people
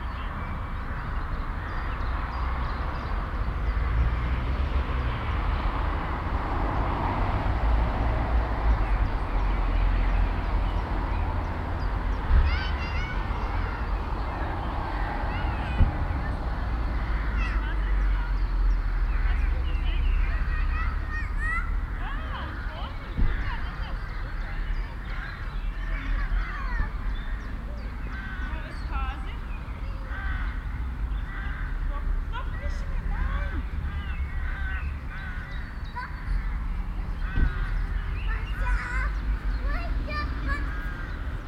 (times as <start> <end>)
12.1 30.2, 37.4 41.2